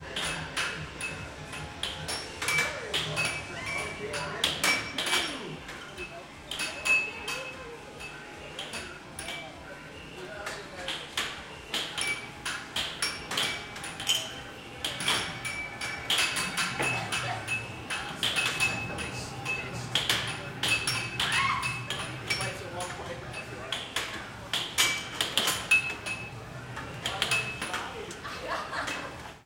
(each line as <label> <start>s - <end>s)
Loud noise of arcade machines 0.0s - 29.4s
people playing air hockey 0.0s - 29.4s